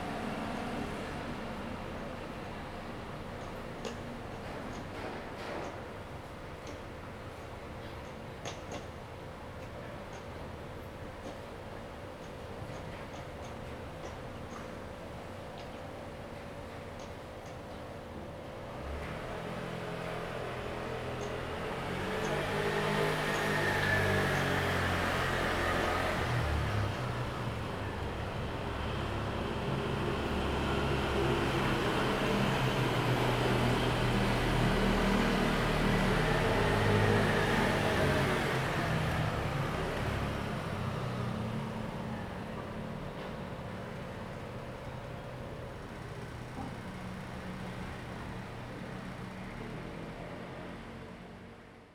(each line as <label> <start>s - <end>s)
traffic sound 18.7s - 51.8s